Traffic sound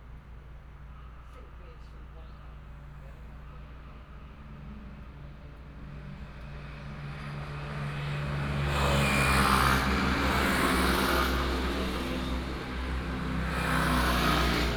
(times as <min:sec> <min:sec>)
0:03.6 0:14.7